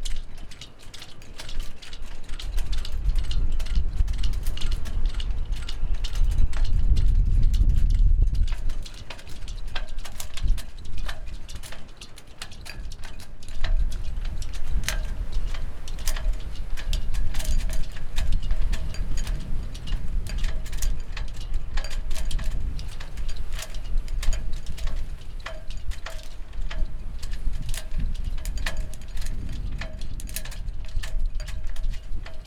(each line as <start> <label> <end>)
0.0 sailboats in the wind 32.4